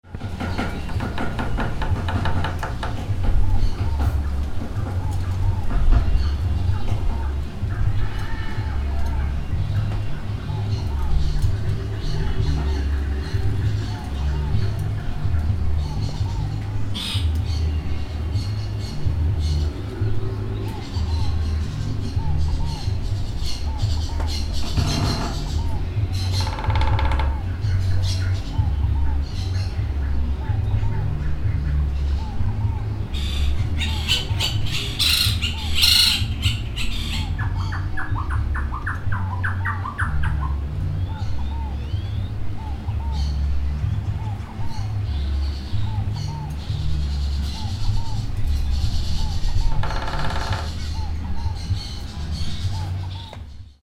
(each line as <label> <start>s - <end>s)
pájaros 0.0s - 53.8s